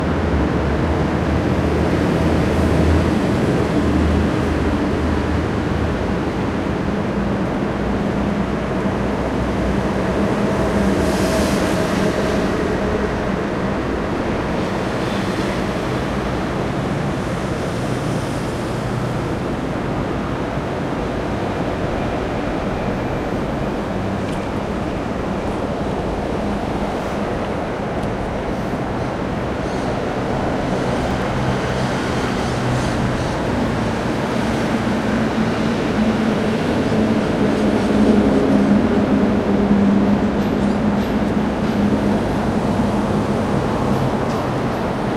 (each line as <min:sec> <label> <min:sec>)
0:00.0 Traffic 0:45.1